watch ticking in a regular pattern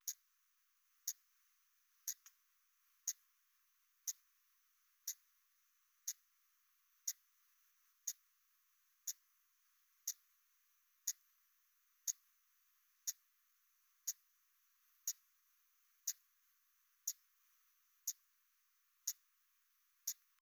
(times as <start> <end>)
0.0 0.2, 1.0 1.2, 2.0 2.4, 3.0 3.2, 4.0 4.2, 5.0 5.2, 6.0 6.2, 7.0 7.2, 8.0 8.2, 9.0 9.2, 10.0 10.3, 11.0 11.3, 12.0 12.3, 13.0 13.2, 14.0 14.2, 15.0 15.3, 16.0 16.3, 17.0 17.2, 18.0 18.2, 19.0 19.3, 20.0 20.3